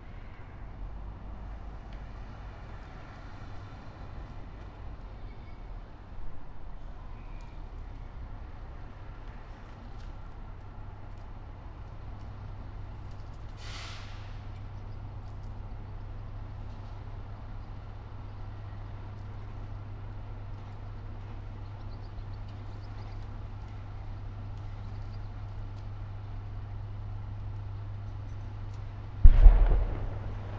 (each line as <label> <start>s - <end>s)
cannon shots 29.2s - 30.5s